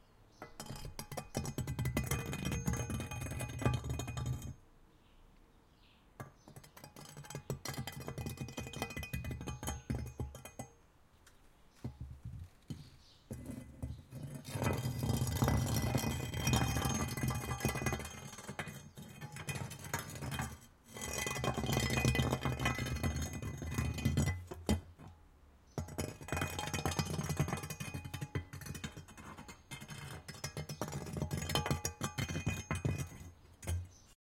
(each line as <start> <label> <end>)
0.4 Metal rake across cobblestone paving 4.6
12.7 Metal rake across cobblestone paving 25.0
25.8 Metal rake across cobblestone paving 34.2